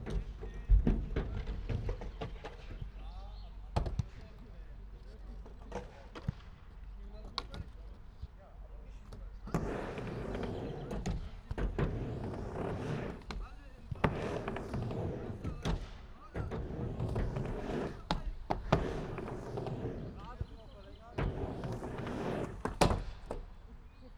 Skater at half pipe 0:00.0 - 0:24.1

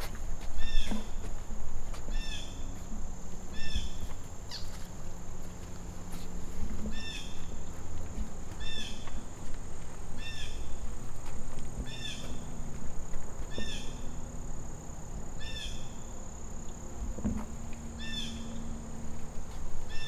walk on the bridge over the pond 0:00.0 - 0:20.0

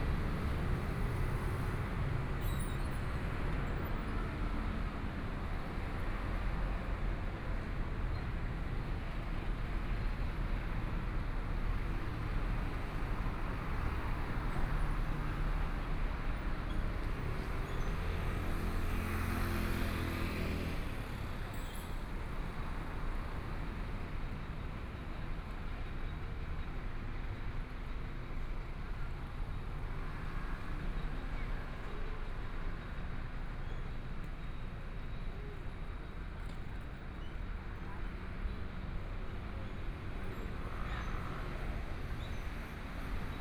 Traffic Sound 0:00.0 - 0:43.4

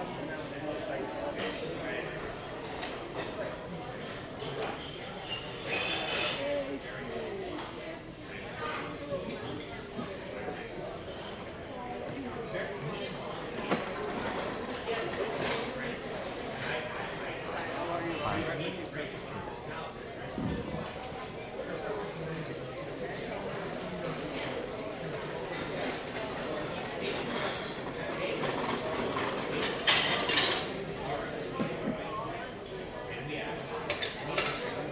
cutlery and dishes 0:01.3 - 0:06.6
cutlery and dishes 0:13.5 - 0:15.8
cutlery and dishes 0:27.1 - 0:30.8
cutlery and dishes 0:33.6 - 0:34.9

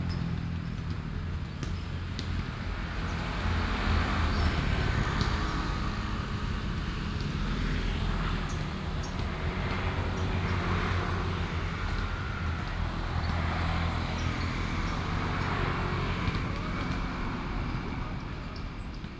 Traffic Sound 0:00.0 - 0:19.1

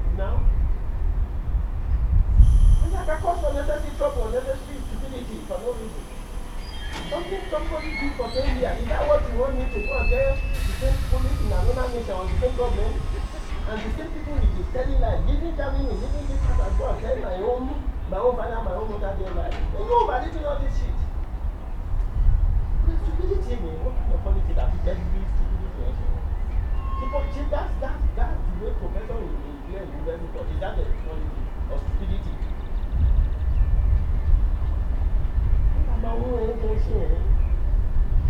freight train starts 0:02.3 - 0:20.0
Birds 0:03.9 - 0:10.6
Birds 0:25.4 - 0:27.2
Birds 0:29.1 - 0:38.1

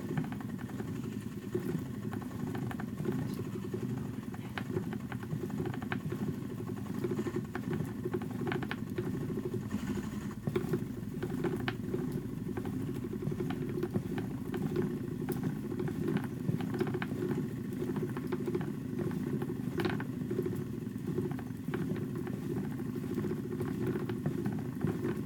spinning Shetland wool on an old Shetland wheel 0:00.0 - 0:25.2

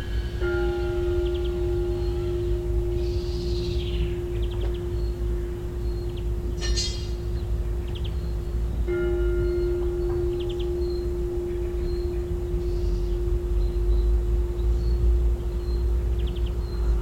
bells near the house 0:00.0 - 0:17.0

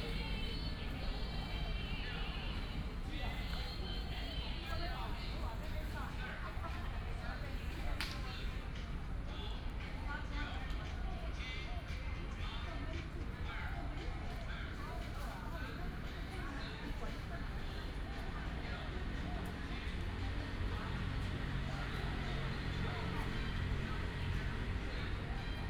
traffic sound 0:00.0 - 0:07.2
elderly people are doing aerobics 0:00.0 - 0:25.6
traffic sound 0:18.4 - 0:25.6

